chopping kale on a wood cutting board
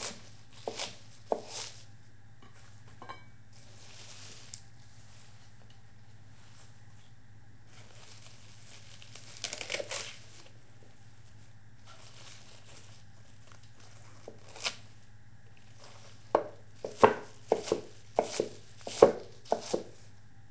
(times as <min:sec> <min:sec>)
0:00.0 0:01.8, 0:09.1 0:10.1, 0:14.0 0:14.8, 0:15.8 0:20.0